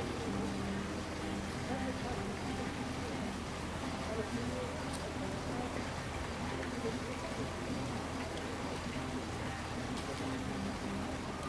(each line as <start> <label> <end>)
0.0 restaurant music 6.7
0.0 Tourists 11.4